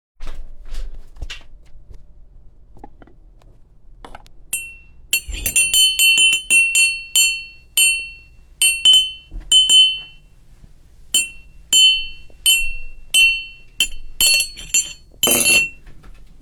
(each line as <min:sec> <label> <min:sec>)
0:04.6 Metal spoon hitting ceramic mug 0:10.2
0:11.2 Metal spoon hitting ceramic mug 0:15.8